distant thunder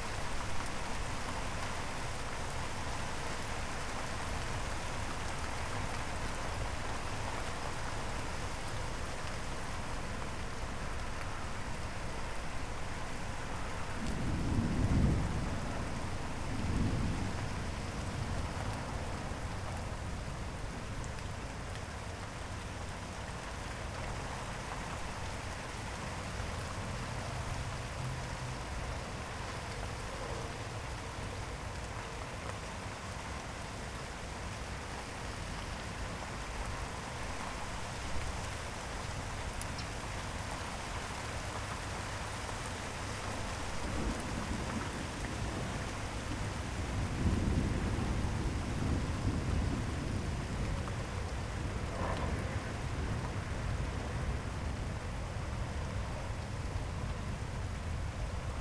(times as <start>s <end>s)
43.4s 54.2s